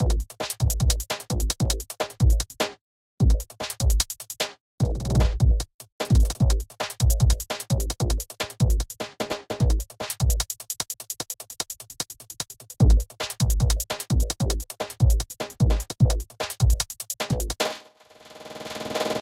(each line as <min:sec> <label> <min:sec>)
0:00.0 basic drums 0:17.8
0:04.8 fat indistinct bass 0:05.6